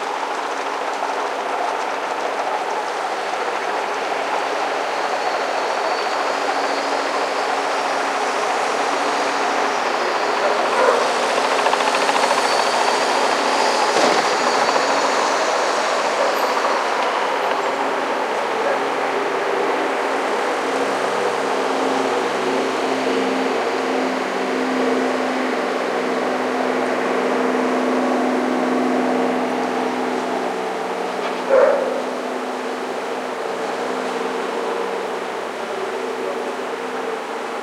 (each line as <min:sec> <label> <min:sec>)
0:00.0 mountypolice gallopade 0:37.6